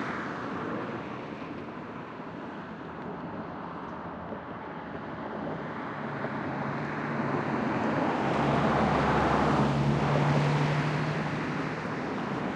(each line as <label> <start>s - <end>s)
Cars Passing 6.5s - 12.5s